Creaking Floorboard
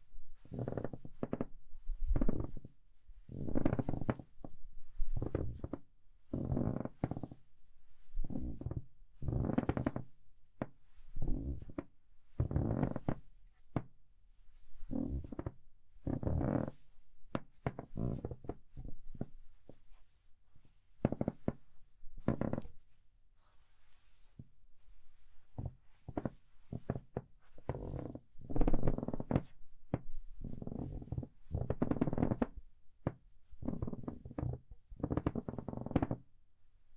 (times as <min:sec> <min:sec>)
0:00.4 0:04.5, 0:05.1 0:07.4, 0:08.3 0:13.2, 0:14.9 0:16.8, 0:17.4 0:19.8, 0:21.0 0:21.6, 0:22.2 0:22.8, 0:25.6 0:36.2